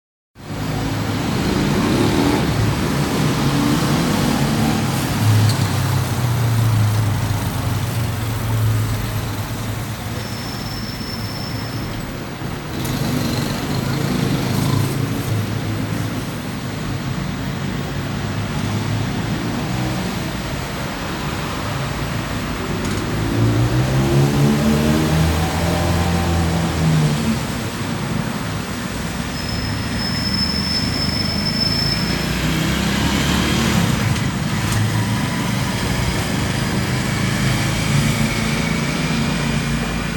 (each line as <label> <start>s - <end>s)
cars 0.4s - 40.1s
street vendors 0.4s - 40.1s
wind 0.4s - 40.1s
motorcycles 0.4s - 40.1s
voices of passersby 0.5s - 23.8s